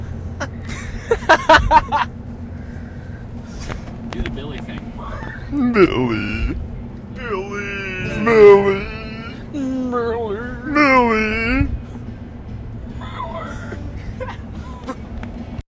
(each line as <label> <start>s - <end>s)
riding in car 0.0s - 15.6s
friends driving around talking 1.5s - 15.6s
laughing 5.1s - 6.6s
laughing 7.2s - 9.7s